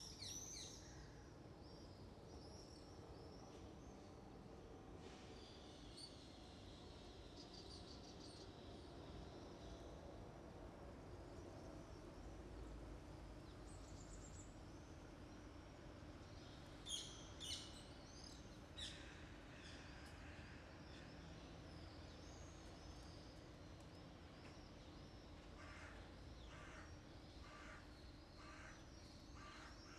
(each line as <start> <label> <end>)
0.0 General rumble of the city 29.9
25.6 crows 28.8
29.4 crows 29.9